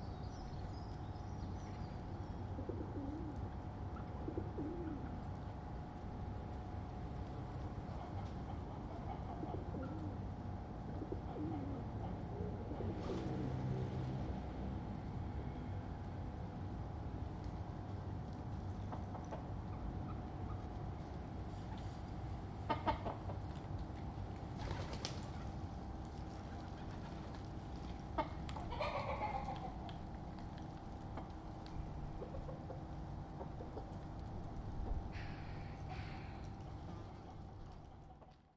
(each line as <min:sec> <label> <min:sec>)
0:00.5 Pigeons 0:06.2
0:02.4 Chickens 0:05.6
0:07.2 Pigeons 0:14.4
0:07.4 Chickens 0:13.7
0:18.3 Chickens 0:23.8
0:24.4 Pigeons 0:38.5
0:24.6 Chickens 0:38.5